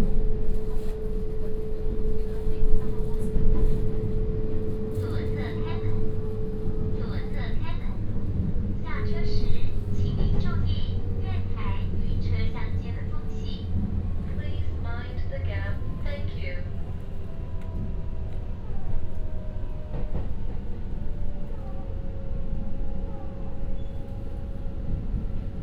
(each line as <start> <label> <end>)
0.0 Dialogue in the compartment 25.6